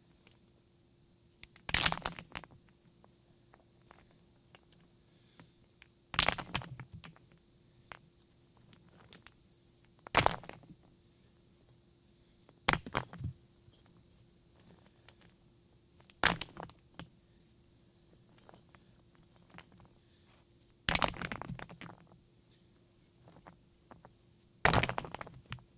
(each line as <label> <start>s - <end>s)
dropping them on a rock pile 1.4s - 2.7s
dropping them on a rock pile 3.5s - 8.0s
dropping them on a rock pile 8.6s - 9.4s
dropping them on a rock pile 10.0s - 10.9s
dropping them on a rock pile 12.6s - 14.0s
dropping them on a rock pile 14.6s - 15.4s
dropping them on a rock pile 16.0s - 17.1s
dropping them on a rock pile 18.3s - 20.0s
dropping them on a rock pile 20.9s - 22.2s
dropping them on a rock pile 23.2s - 25.7s